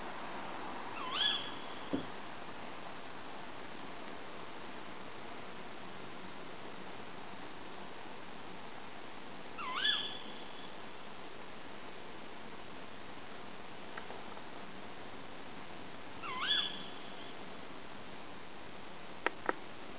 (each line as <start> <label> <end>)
1.0 tawny owl calling 2.1
9.6 tawny owl calling 10.8
16.2 tawny owl calling 17.4